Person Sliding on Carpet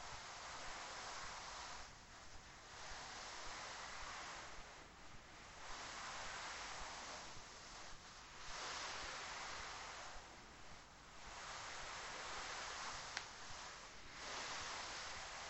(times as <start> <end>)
5.6 10.2, 11.3 15.4